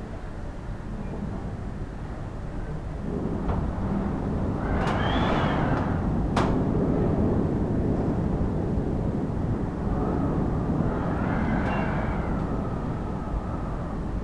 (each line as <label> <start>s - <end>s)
windy day 0.0s - 14.2s